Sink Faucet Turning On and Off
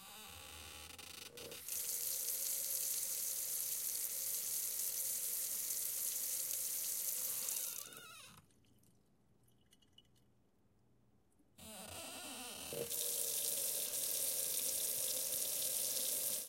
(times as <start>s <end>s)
1.3s 8.2s, 12.6s 16.4s